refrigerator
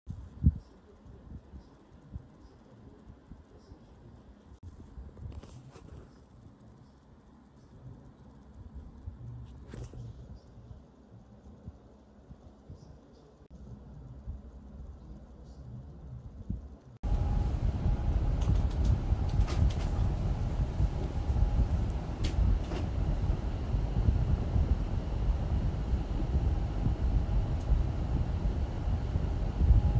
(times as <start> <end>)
16.8 23.4